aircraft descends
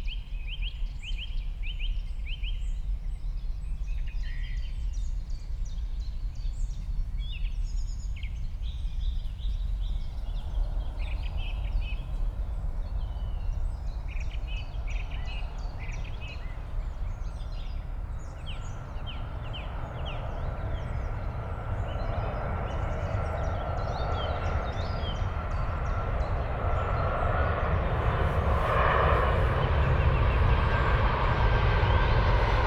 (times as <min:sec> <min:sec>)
0:06.9 0:32.6